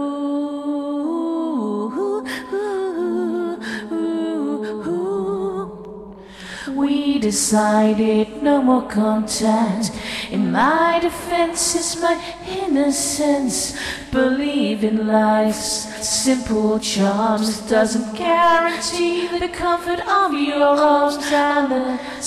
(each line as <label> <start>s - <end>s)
vocals only 0.0s - 22.2s